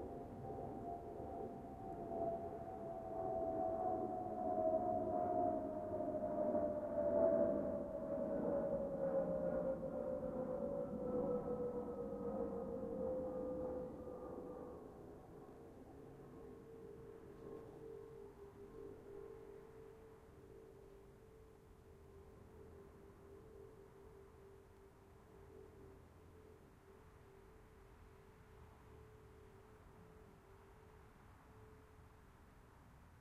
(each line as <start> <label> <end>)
0.0 Jet 21.3